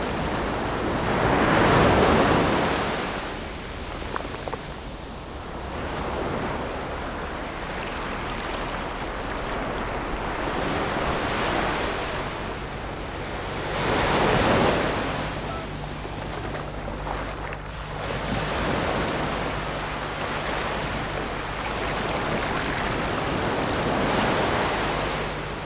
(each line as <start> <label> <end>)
0.0 waves 25.6